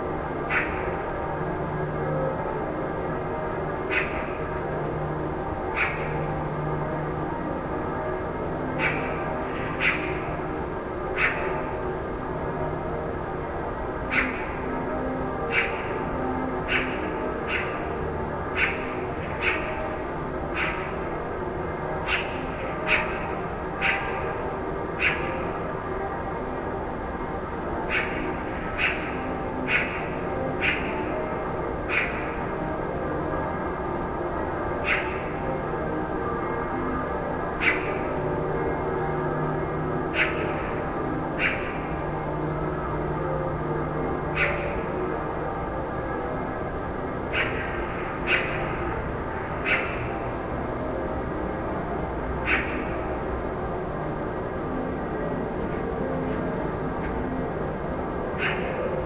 churchbells 0:00.0 - 0:59.0
birds 0:00.2 - 0:02.4
birds 0:03.0 - 0:13.0
birds 0:14.0 - 0:26.6
birds 0:27.8 - 0:46.5
birds 0:47.2 - 0:57.6
birds 0:58.4 - 0:59.0

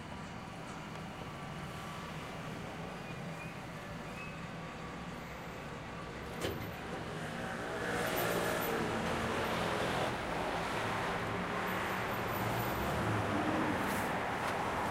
open top bus full of tourists passed by 0:00.0 - 0:14.9

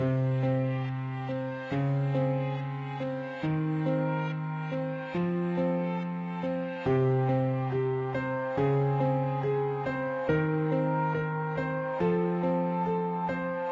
piano 0:00.0 - 0:13.7

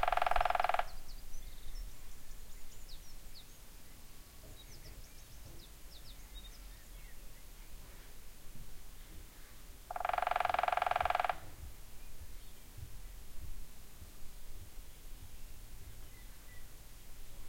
woodpecker pecking at a tree 0:00.0 - 0:01.0
woodpecker pecking at a tree 0:09.9 - 0:11.6

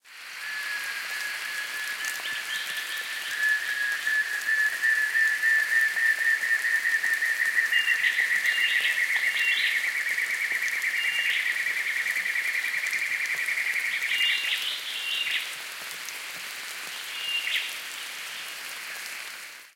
rain 0:00.0 - 0:19.7

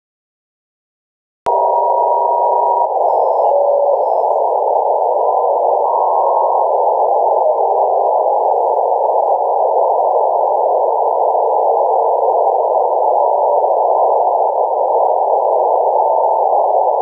radio scanning noise 0:01.5 - 0:17.0

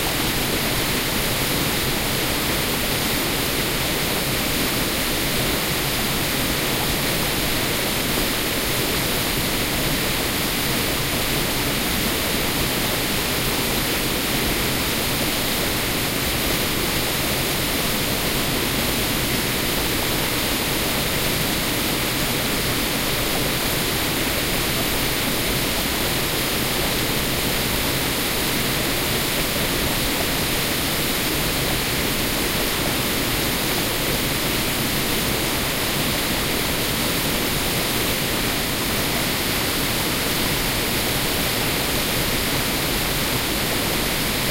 steady waterfall 0:00.0 - 0:44.5

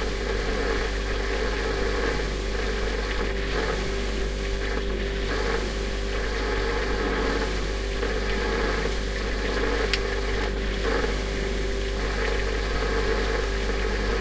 Refrigerator from inside 0:00.0 - 0:14.2
boiling, gurgling, or knocking sound 0:00.0 - 0:14.2

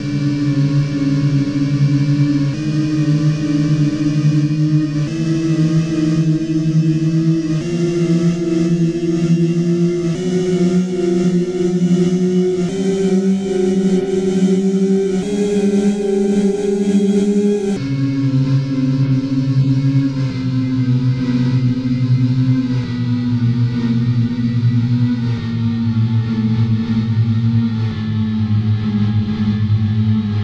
synth 0:01.8 - 0:17.9

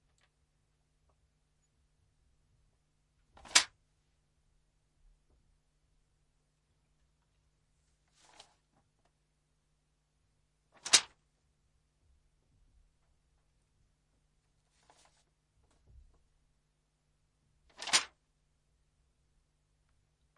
Throwing down a booklet made of some sheets of paper on wood 0:10.8 - 0:11.2
Throwing down a booklet made of some sheets of paper on wood 0:17.7 - 0:18.2

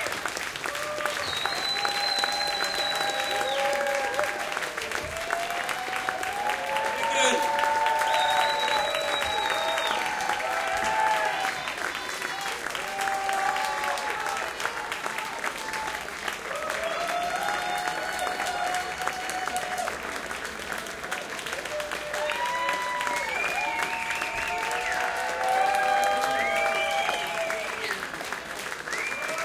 encore cheering 0:00.0 - 0:20.1
clapping 0:00.0 - 0:29.4
yelling 0:05.2 - 0:11.6
encore cheering 0:21.5 - 0:29.4

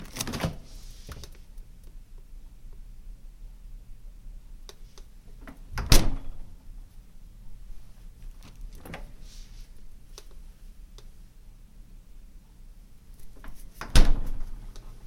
refrigerator door opening and closing 0:00.0 - 0:00.8
hum 0:01.1 - 0:13.4
refrigerator door opening and closing 0:05.4 - 0:06.5
refrigerator door opening and closing 0:08.5 - 0:09.1
refrigerator door opening and closing 0:13.4 - 0:14.6

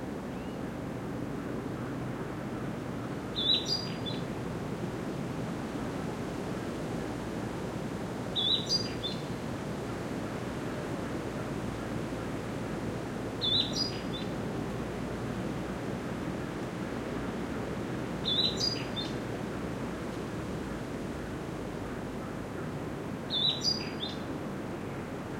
wind 0:00.0 - 0:25.3
birdsong 0:03.4 - 0:04.3
birdsong 0:08.4 - 0:09.4
birdsong 0:13.4 - 0:14.4
birdsong 0:18.2 - 0:19.2
birdsong 0:23.3 - 0:24.3

